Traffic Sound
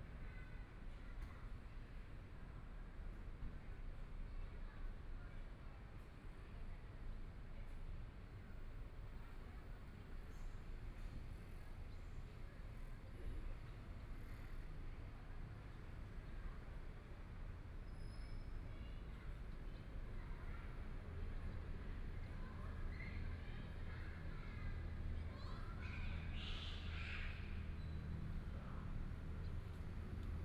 0:18.5 0:30.4

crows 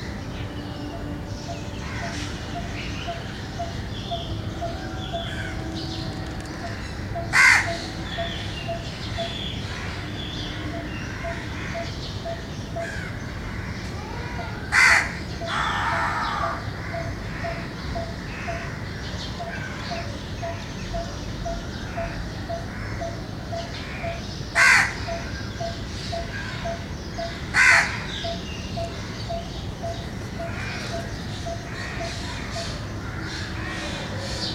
0:06.7 0:11.9, 0:12.8 0:18.8, 0:21.9 0:34.5

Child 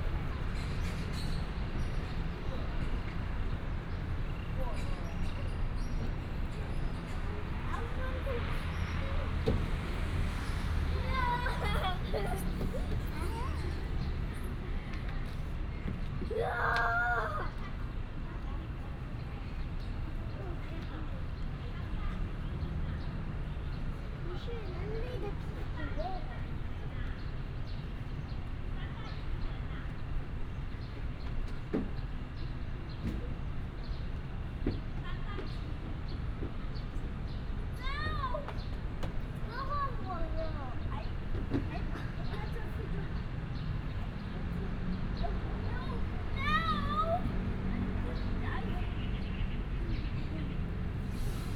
0:07.4 0:14.5, 0:16.2 0:18.7, 0:24.3 0:26.6, 0:37.7 0:38.8, 0:39.4 0:43.2, 0:45.2 0:50.6

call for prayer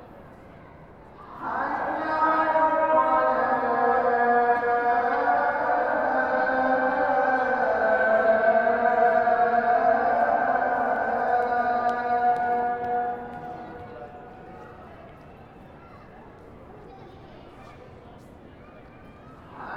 0:01.2 0:14.9, 0:19.6 0:19.7

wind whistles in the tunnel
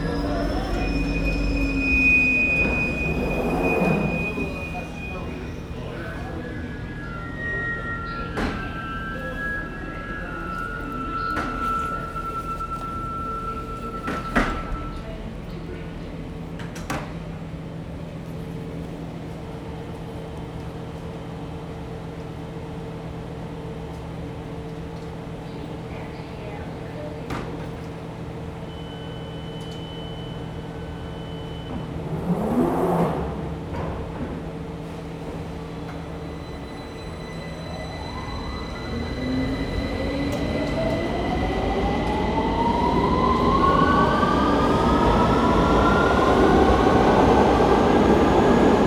0:31.1 0:48.8

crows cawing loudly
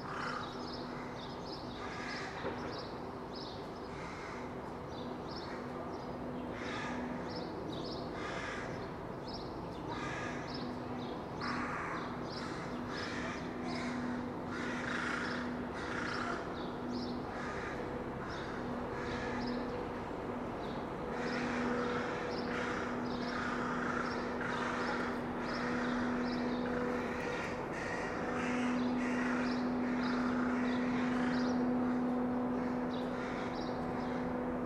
0:00.0 0:02.5, 0:04.0 0:04.5, 0:06.5 0:07.2, 0:08.1 0:08.9, 0:09.9 0:10.8, 0:11.4 0:19.7, 0:21.1 0:34.3

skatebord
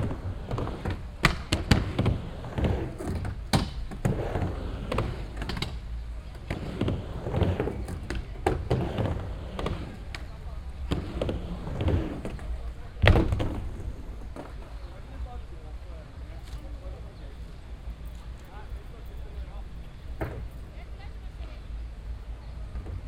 0:00.0 0:15.0

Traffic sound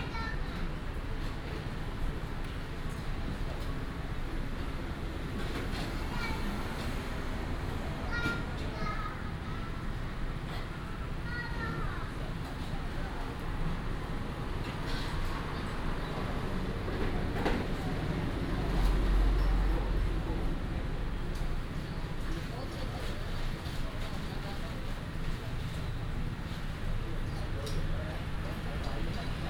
0:04.0 0:12.4, 0:13.4 0:24.0, 0:25.0 0:29.4

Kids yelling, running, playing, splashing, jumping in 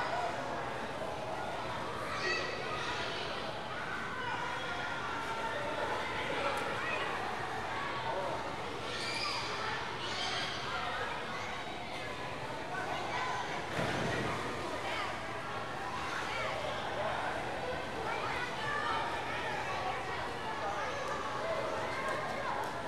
0:13.1 0:15.2

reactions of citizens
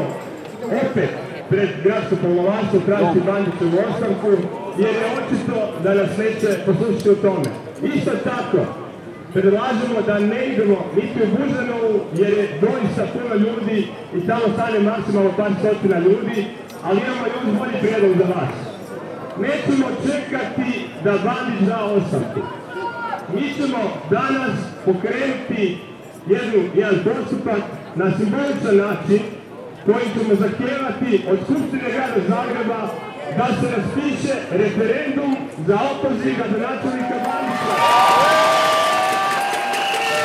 0:37.0 0:40.2

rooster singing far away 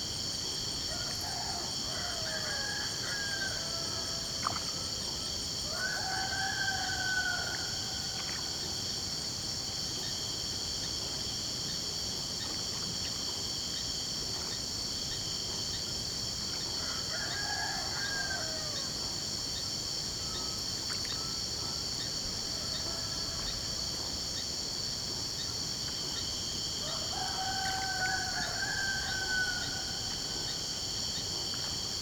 0:00.9 0:04.3, 0:05.6 0:08.2, 0:16.8 0:19.0, 0:26.8 0:30.8

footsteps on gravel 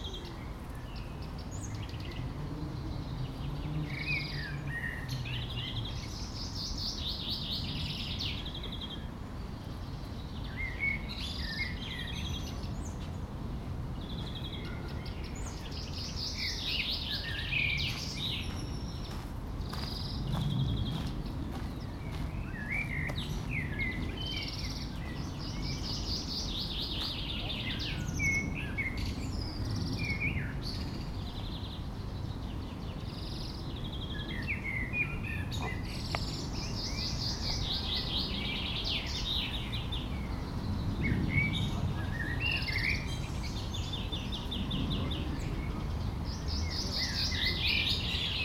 0:17.8 0:23.7

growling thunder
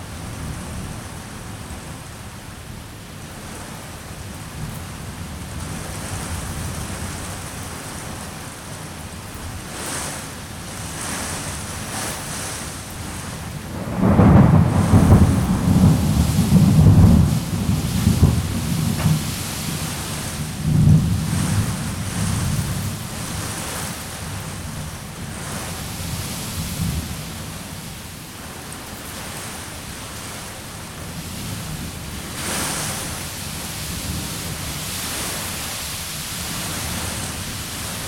0:13.8 0:22.8

